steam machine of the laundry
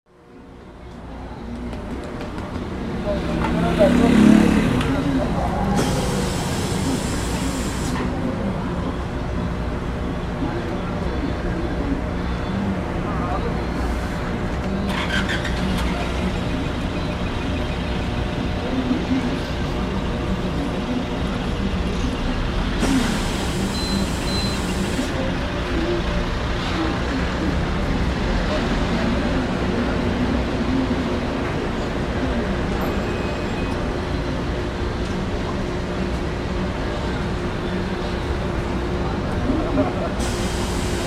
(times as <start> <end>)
40.2 41.0